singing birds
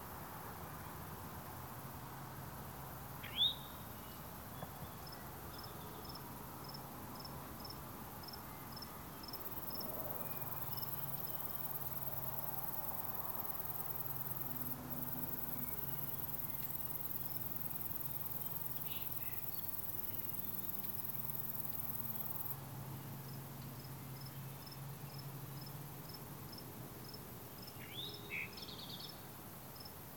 3.2s 6.0s

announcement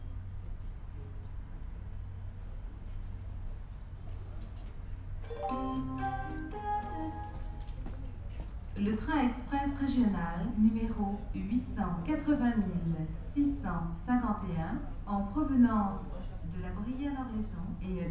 5.3s 7.8s

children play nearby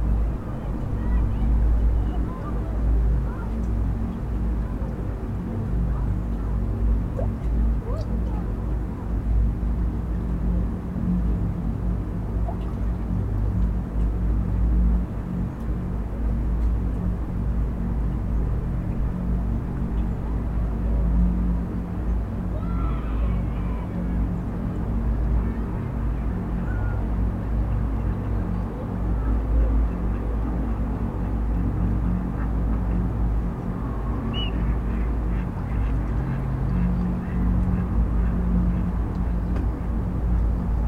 0.1s 3.8s, 7.1s 8.6s, 22.4s 24.3s

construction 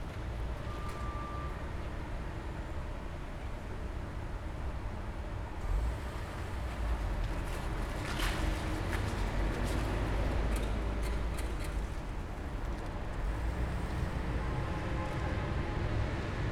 5.6s 15.1s

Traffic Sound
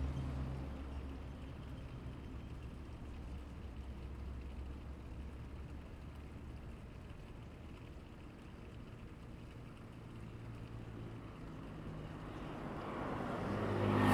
11.6s 14.1s

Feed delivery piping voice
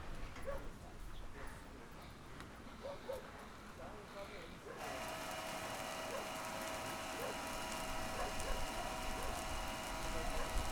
4.2s 10.7s

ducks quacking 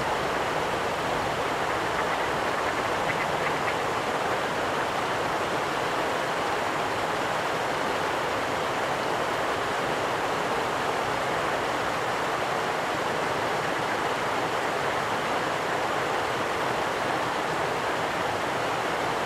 1.0s 4.9s

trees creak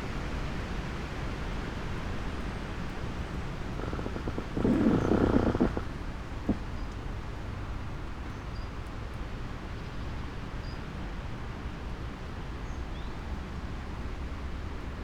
3.0s 6.9s

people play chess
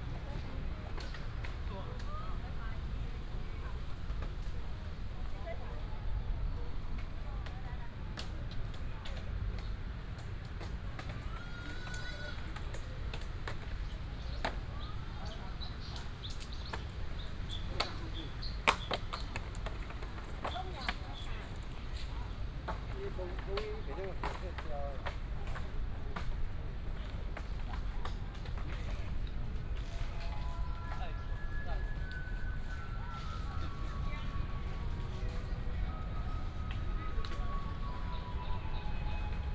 6.8s 38.4s

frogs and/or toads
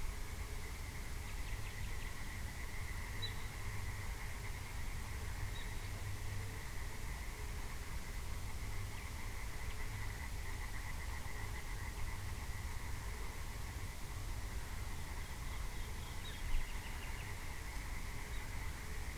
6.8s 19.1s

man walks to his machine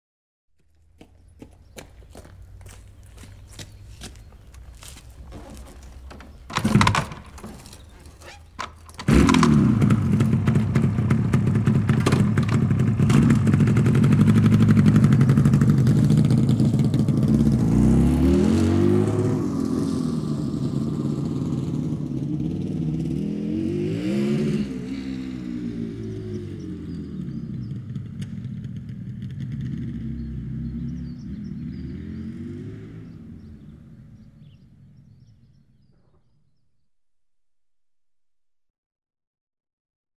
0.6s 9.5s

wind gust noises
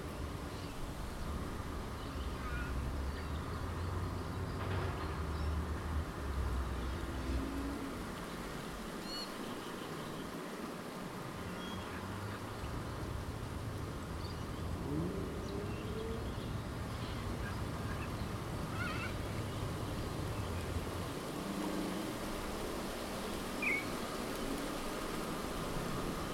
5.8s 26.3s

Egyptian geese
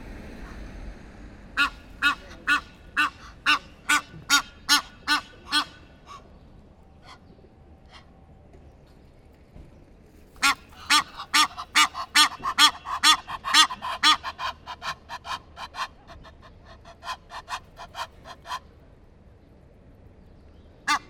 1.6s 8.1s, 10.4s 18.7s, 20.9s 21.0s

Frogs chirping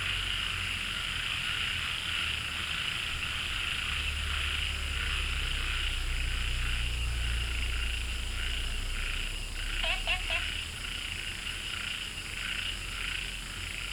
4.0s 13.9s

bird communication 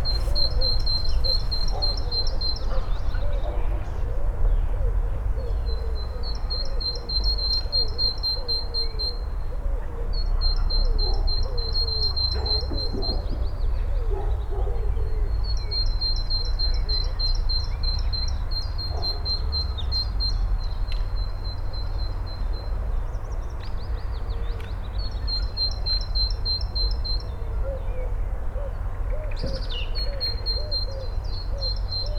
0.0s 3.0s

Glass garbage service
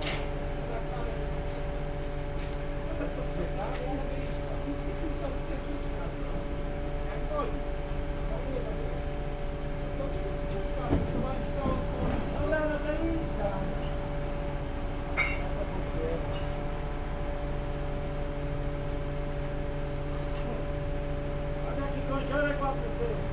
9.3s 17.2s

